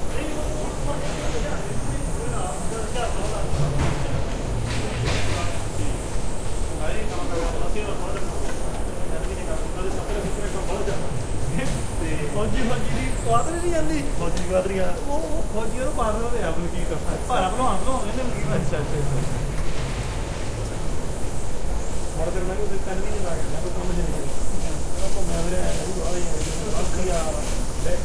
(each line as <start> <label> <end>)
0.0 speaker 19.6